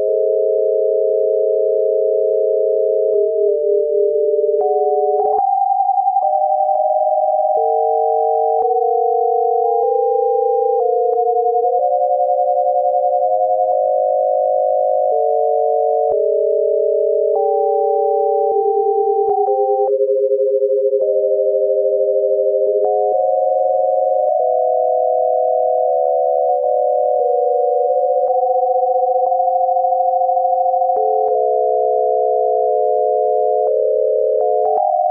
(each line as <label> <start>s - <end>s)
drone 20.9s - 35.1s